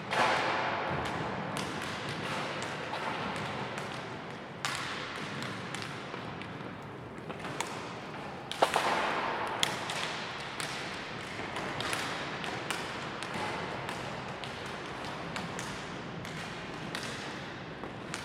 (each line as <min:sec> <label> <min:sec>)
0:00.0 hockey warm-up 0:18.2